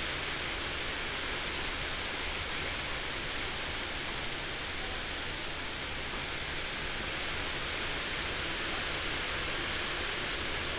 wind 0:00.0 - 0:10.7

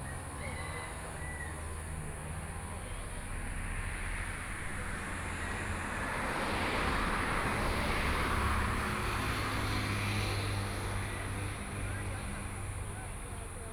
Selling vegetables on the roadside 0:00.0 - 0:13.7
Traffic Sound 0:00.0 - 0:13.7

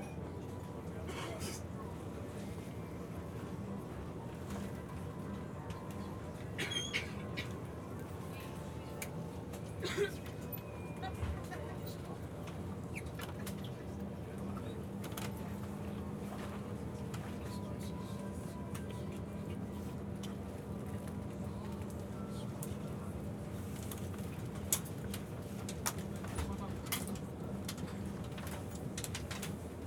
talking to some of the passengers 0:00.0 - 0:29.8
train stops for a brief moment 0:09.5 - 0:11.9

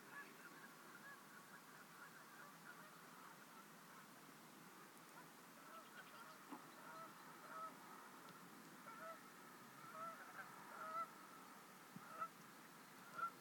ducks 0:00.1 - 0:04.1
ducks 0:04.8 - 0:12.4
crows 0:09.8 - 0:11.1
ducks 0:13.0 - 0:13.4

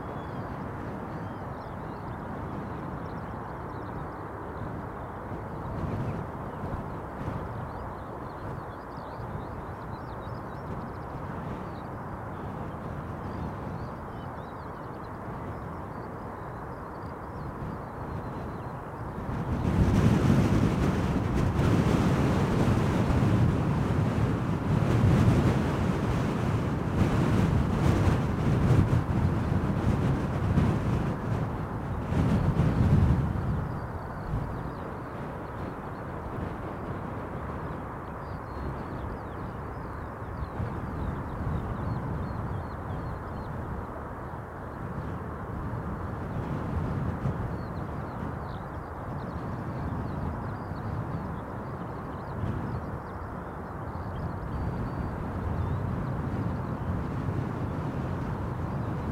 Wind 0:00.0 - 0:59.1
skylarks sings 0:00.0 - 0:59.1

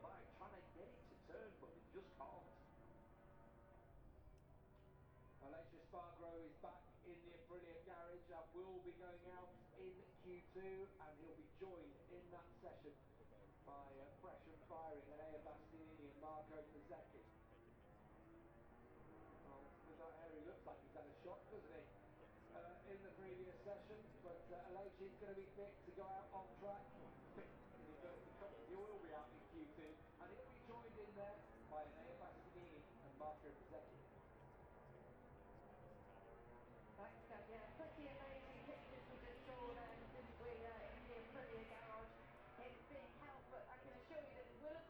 moto grand prix qualifying one 0:08.9 - 0:44.8

